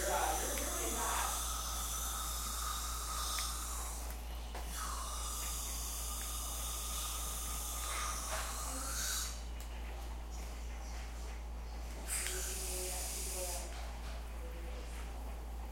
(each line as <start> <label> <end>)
0.0 teeth cleaning 10.5
12.0 teeth cleaning 13.8